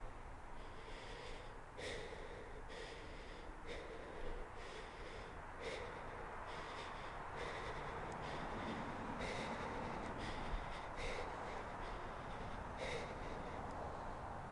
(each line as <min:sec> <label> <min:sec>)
0:00.0 Heavy breathing 0:14.5